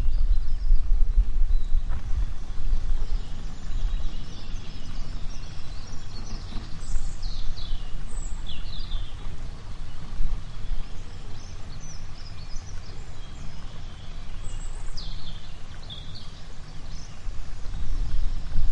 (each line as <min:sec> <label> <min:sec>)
0:00.0 birds 0:18.7
0:00.0 cableway 0:18.7
0:00.0 stream 0:18.7